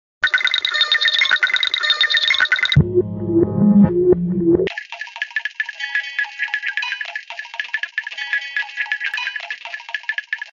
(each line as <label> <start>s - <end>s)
beat with kaoos 2.8s - 4.7s